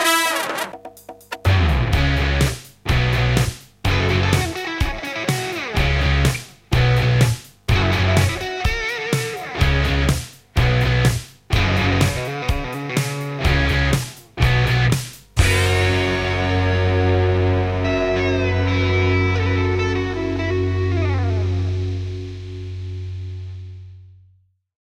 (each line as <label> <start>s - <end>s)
Drum machine 0.0s - 16.7s
guitar 0.0s - 24.0s